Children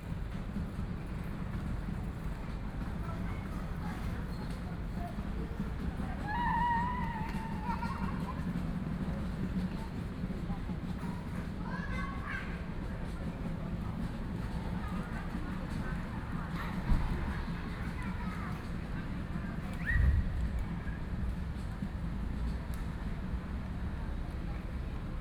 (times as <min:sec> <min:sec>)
0:06.0 0:08.6, 0:11.0 0:13.2